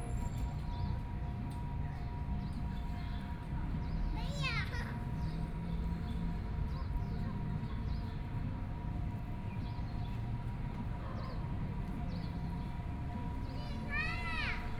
child's voice 0:04.1 - 0:05.1
child's voice 0:13.5 - 0:14.7

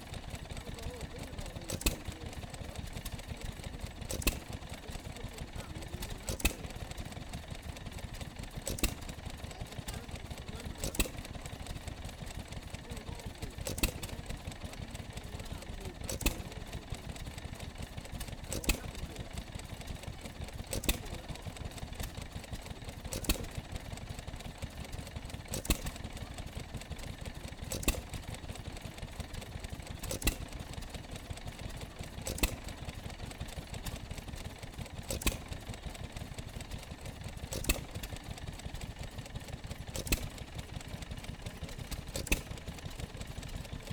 stationary engine 0:00.0 - 0:43.9

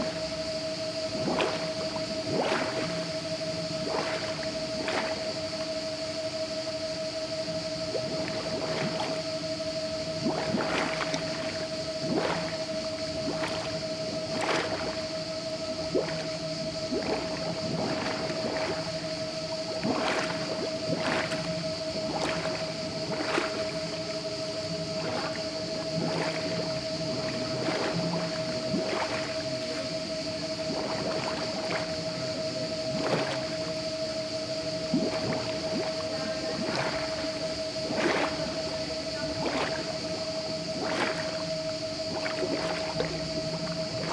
Water bubbling in the canal 0:00.0 - 0:44.1
crickets 0:00.0 - 0:44.1
drone of the water pump 0:00.0 - 0:44.1

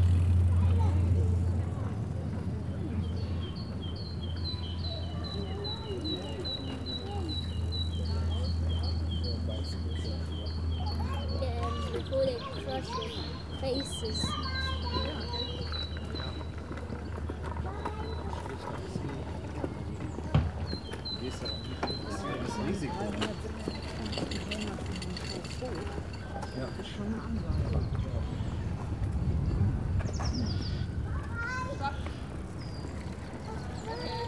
trains passing 0:00.0 - 0:34.2
people walking 0:10.1 - 0:34.2
wind noise 0:27.2 - 0:33.2

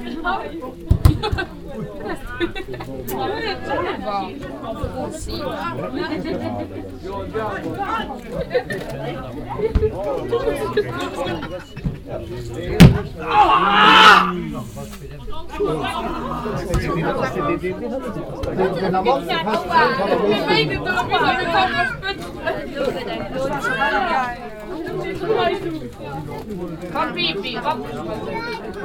conversations of the local fans and visitors 0:00.0 - 0:28.8
ball attacks 0:12.7 - 0:13.2

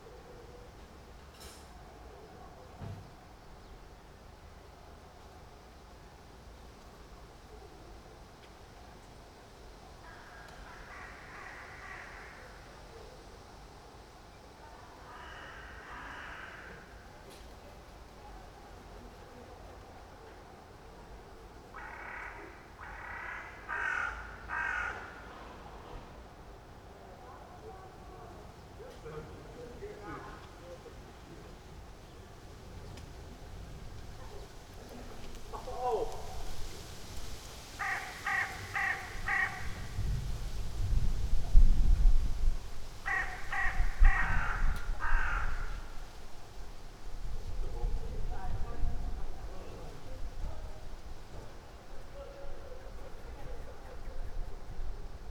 crows 0:10.0 - 0:12.9
crows 0:15.0 - 0:17.1
crows 0:21.7 - 0:25.5
crows 0:37.8 - 0:40.0
crows 0:43.0 - 0:46.0

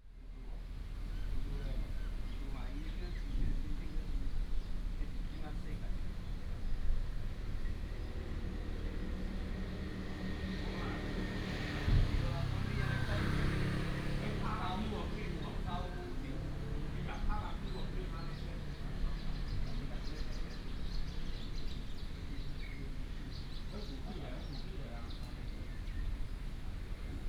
Birds sound 0:01.0 - 0:11.8
traffic sound 0:06.4 - 0:27.2
Birds sound 0:13.1 - 0:27.2

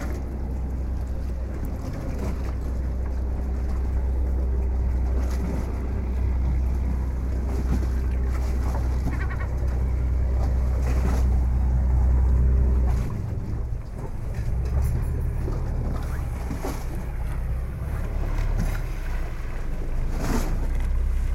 Lapping of the waves 0:00.0 - 0:21.3
seagulls 0:08.9 - 0:10.0

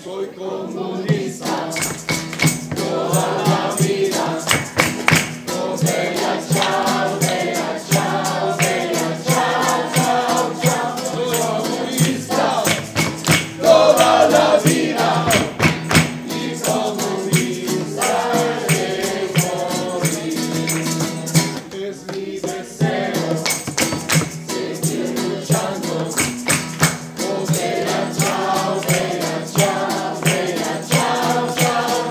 Singing Bella Chao 0:00.0 - 0:23.7
Singing Bella Chao 0:24.3 - 0:26.4
Singing Bella Chao 0:27.1 - 0:32.1

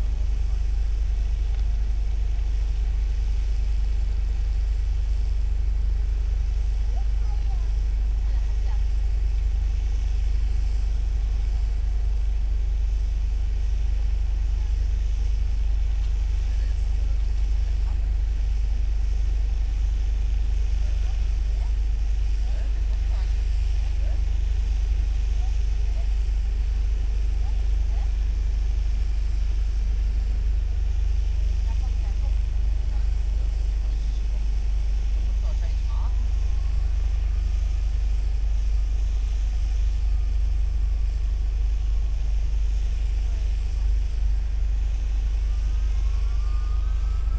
excavator drone 0:00.0 - 0:47.3

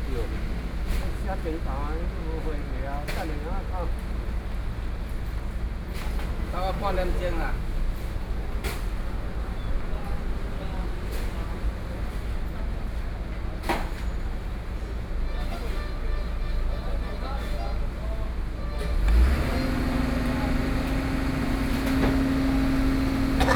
Garbage truck arrived 0:17.8 - 0:23.5

